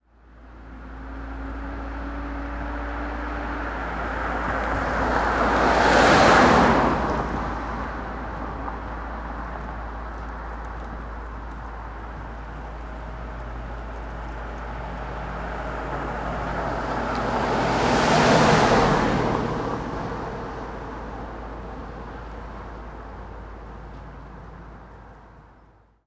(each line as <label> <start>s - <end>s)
Car by 0.2s - 25.7s